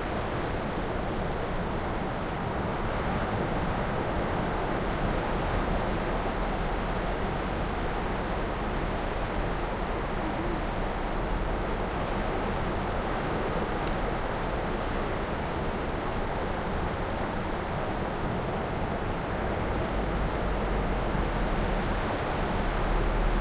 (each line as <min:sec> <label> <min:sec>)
0:00.0 waves 0:23.4